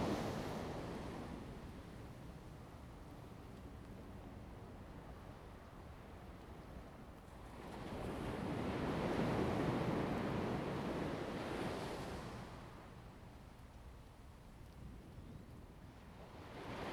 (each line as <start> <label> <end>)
0.0 waves 1.8
7.3 waves 13.0
16.1 waves 16.9